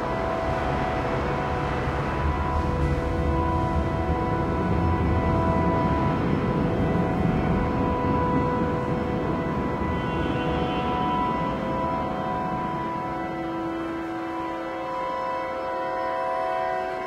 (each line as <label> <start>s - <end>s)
Accordeonist playing inside metro station 0.0s - 17.0s
rumbling trams are passing over 0.0s - 17.0s